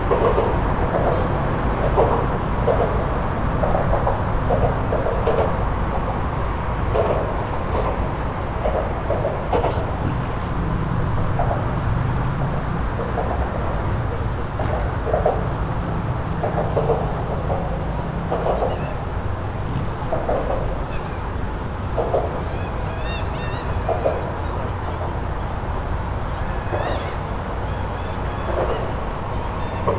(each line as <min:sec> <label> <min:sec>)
0:00.0 Overhead traffic 0:29.9
0:00.0 wind 0:29.9
0:04.5 sea gulls 0:29.9